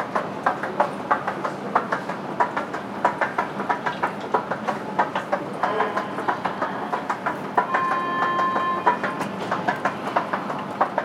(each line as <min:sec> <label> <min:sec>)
0:00.0 rising with the escalator 0:11.0